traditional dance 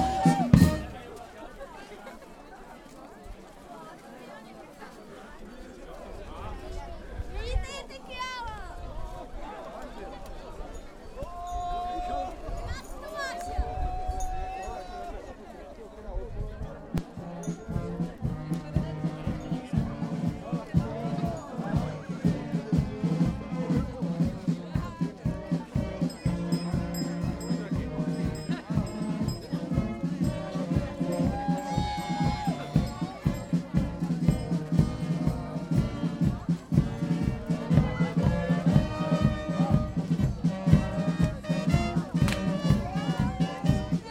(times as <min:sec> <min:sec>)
0:00.0 0:01.3, 0:17.0 0:44.1